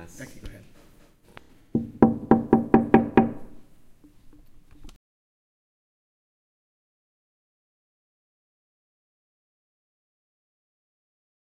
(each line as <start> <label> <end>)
1.7 steady knock on a glass pane 3.6